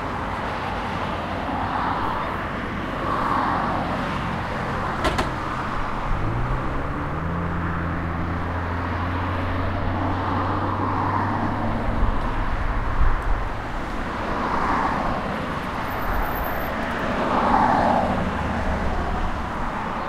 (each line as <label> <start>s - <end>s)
Cars, trucks, buses going over a metal hatch 4.3s - 8.1s